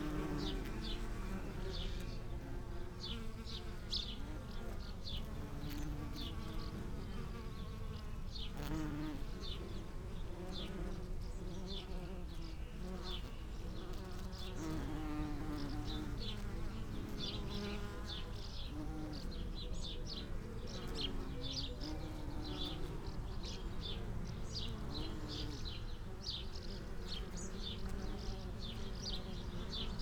bees on lavender 0.0 - 30.0

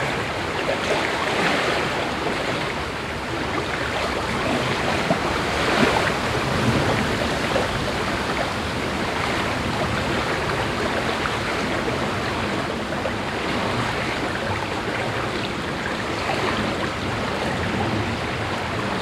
ruffled water 0.0 - 19.0

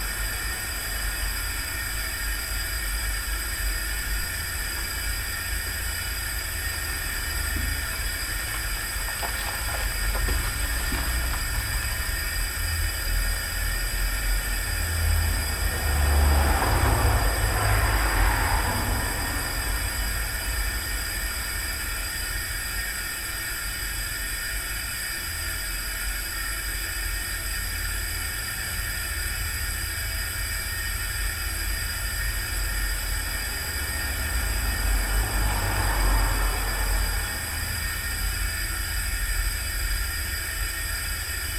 Steady hum of gas 0.0 - 41.5
cars driving nearby 1.9 - 22.4
cars driving nearby 31.2 - 40.0

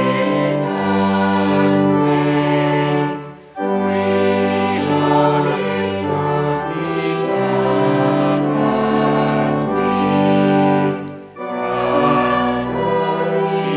church choir rehearsal 0.0 - 13.7

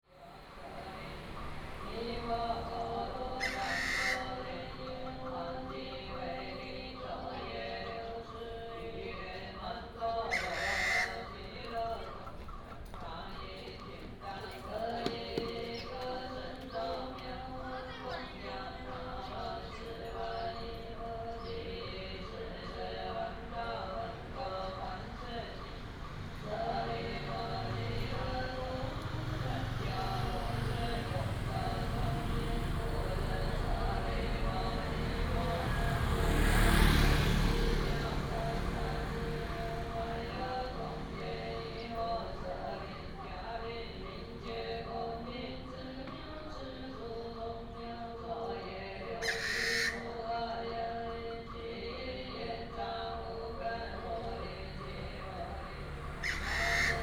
Traffic sound 0.1 - 57.0
Funeral chanting 0.3 - 12.3
Bird call 3.4 - 5.2
Bird call 10.3 - 11.3
Bird call 49.2 - 50.8
Bird call 56.0 - 57.0

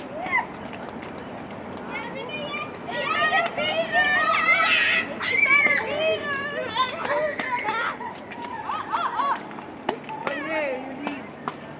Children playing 0.0 - 11.7
traffic noise 0.0 - 11.7

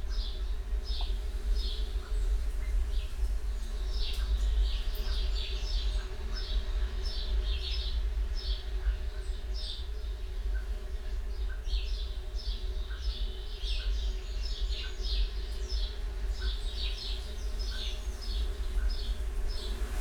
windblast 18.2 - 20.0

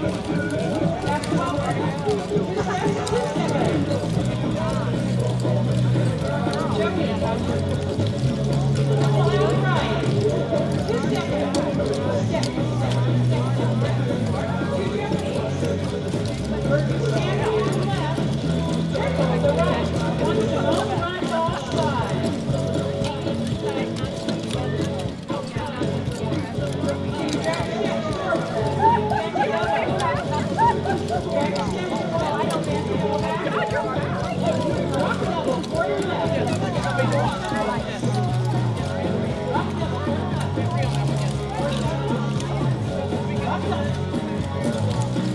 tap dancers 0.0 - 45.3

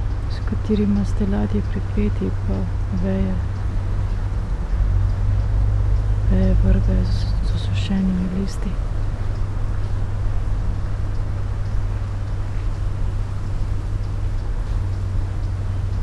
river ship 0.0 - 16.0
streets and river traffic 0.0 - 16.0
wind through willow tree 0.0 - 16.0
spoken words 0.3 - 3.5
spoken words 6.3 - 8.8

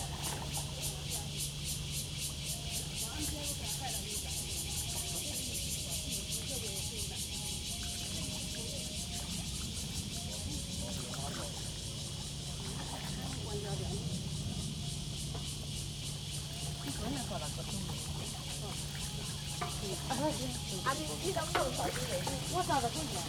Acoustic wave water 0.0 - 23.2
Cicadas cry 0.0 - 23.2

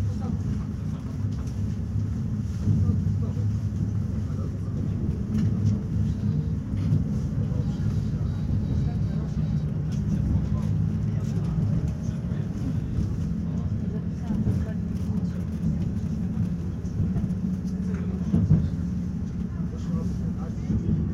train ride 0.0 - 21.1

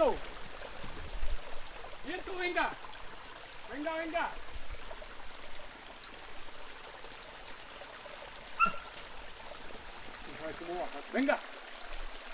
nacimiento de Agua 0.0 - 12.3

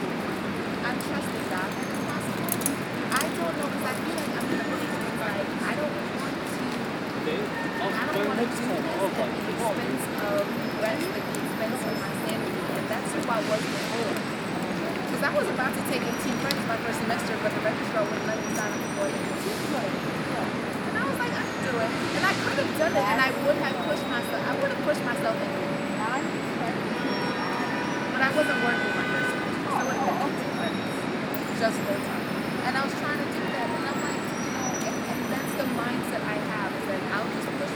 endless conversation 0.6 - 37.7

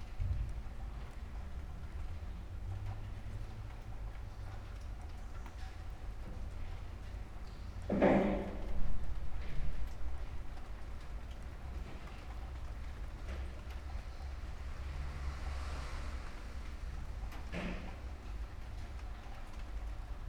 night rain 0.0 - 20.2

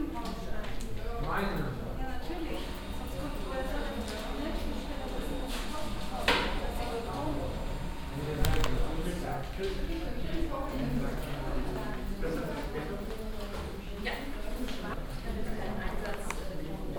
people standing in a row waiting 8.2 - 16.7

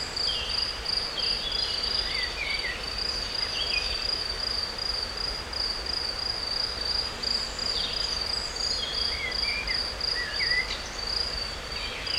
crickets 0.0 - 12.1
insects 0.0 - 12.1
river 0.0 - 12.1
Bird's songs 7.5 - 12.1

